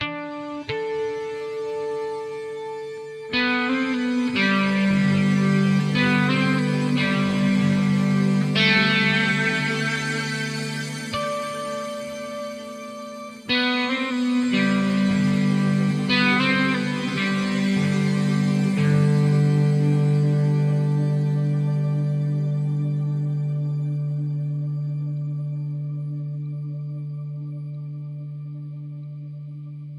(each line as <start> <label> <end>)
0.0 Real guitar 29.9